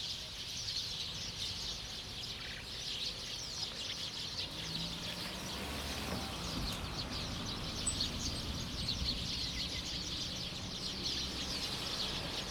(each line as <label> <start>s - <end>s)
Birdsong 2.4s - 12.5s
Traffic Sound 4.4s - 12.5s